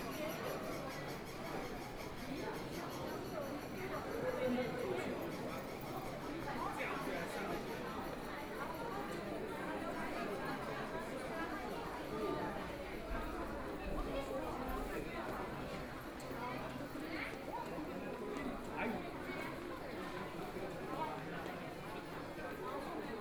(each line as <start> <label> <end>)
0.0 crowd 23.2